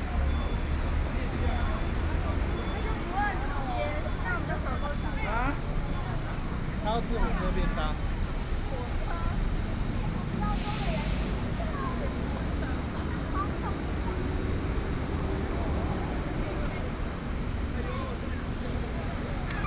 Traffic Sound 0:00.0 - 0:19.6
Very many people traveling 0:00.0 - 0:19.6

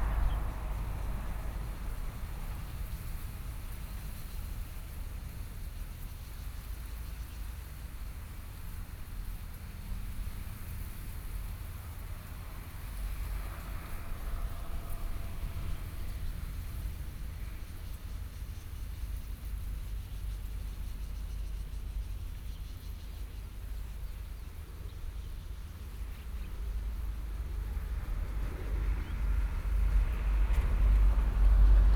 Train traveling through 0:00.0 - 0:04.0
Train traveling through 0:11.9 - 0:18.3

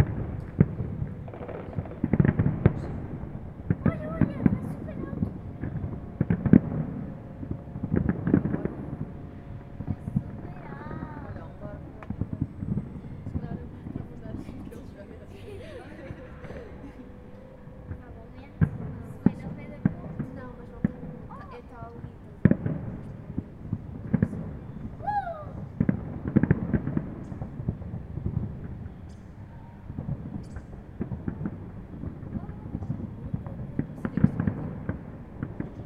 Fireworks 0:00.0 - 0:09.2
Fireworks 0:17.9 - 0:35.8

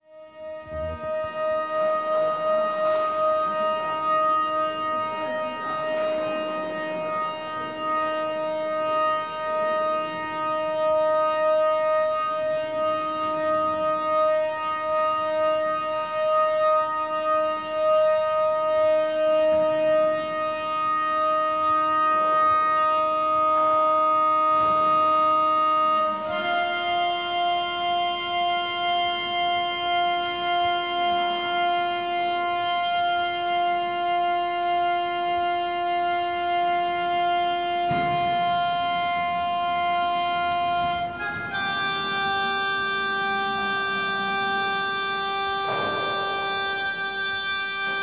pipe organ being tuned 0:00.0 - 0:48.0
visitors talking and walking around 0:00.4 - 0:48.0

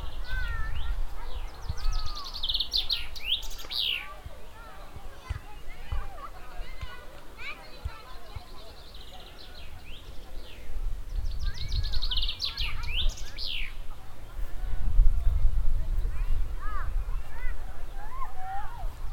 walking on the meadow 0:00.0 - 0:19.1

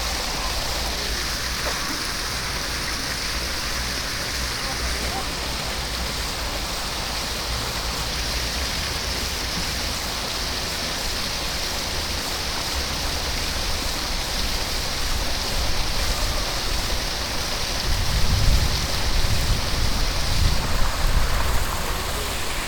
cascade of a 3 level fountain 0:00.0 - 0:22.6

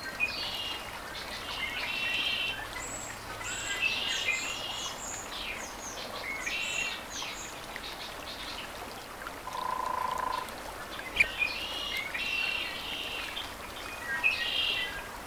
river 0:00.0 - 0:15.2

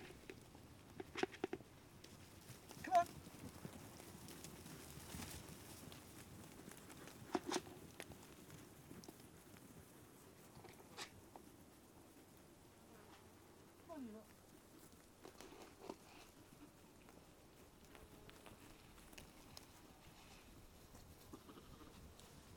sheep munching their food 0:00.0 - 0:12.5
sheep greedily eating its food so fast 0:00.0 - 0:22.5
talking to the sheep 0:02.8 - 0:03.1
sheep munching their food 0:13.7 - 0:22.5
talking to the sheep 0:13.9 - 0:14.3

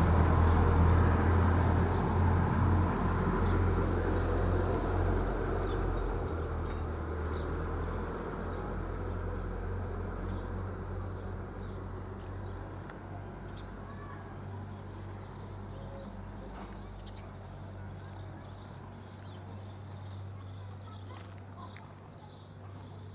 tractor 0:00.0 - 0:11.3
cars 0:00.0 - 0:23.1
birds 0:10.2 - 0:23.1
my footsteps on the pavement 0:11.6 - 0:23.1

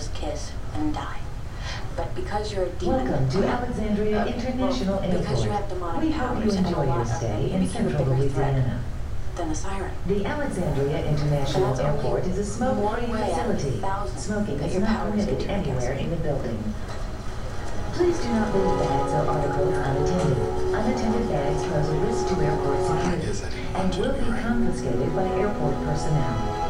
television 0:00.0 - 0:26.6

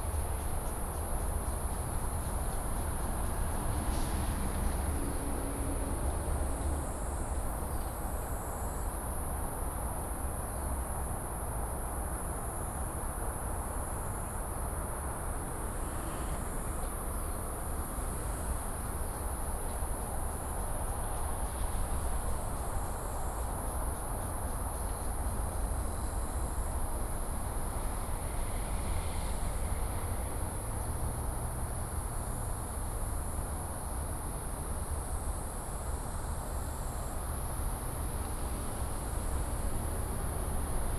traffic sound 0:00.0 - 0:40.9

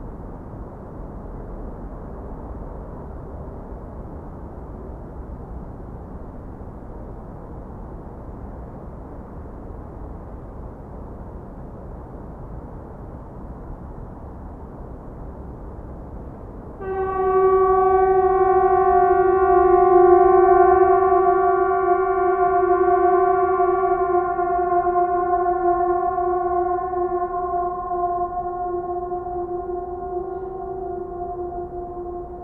Emergency horns testing 0:16.8 - 0:32.4

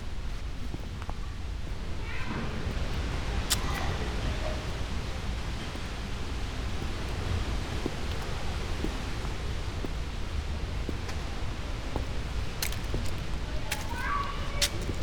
walking 0:00.0 - 0:15.0
wind high above in tree crowns 0:00.0 - 0:15.0

